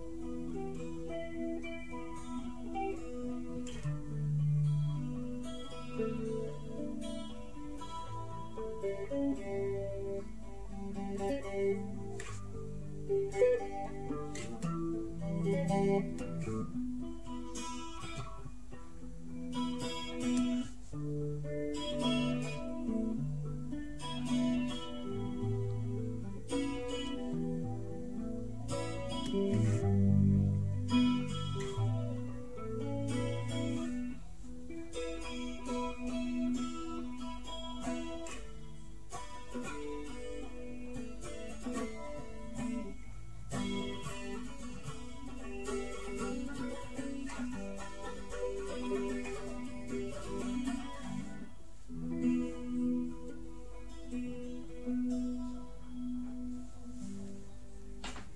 0.0s Uneek guitar experiments 58.3s

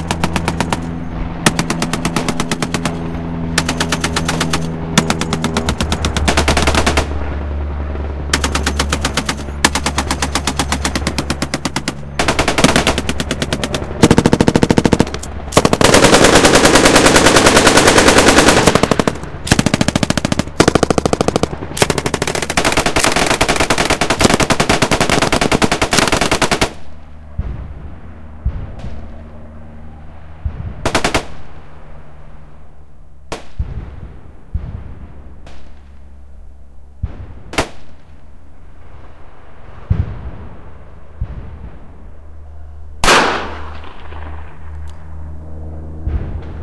0.0s gunfire 7.3s
0.0s sniper fire 32.2s
8.3s gunfire 27.8s
30.4s gunfire 31.5s
32.8s sniper fire 46.6s
43.0s gunfire 44.7s

